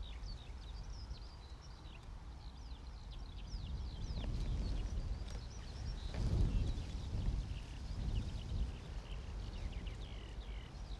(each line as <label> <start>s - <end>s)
Morning song thrush very close 0.0s - 6.1s
gusty wind 0.0s - 10.9s
Morning song thrush very close 7.8s - 10.9s